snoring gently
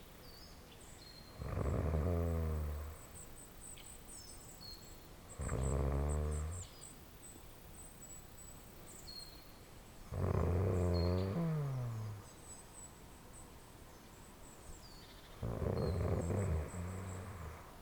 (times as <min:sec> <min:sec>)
0:01.4 0:03.2, 0:05.4 0:06.7, 0:10.1 0:12.3, 0:15.4 0:17.8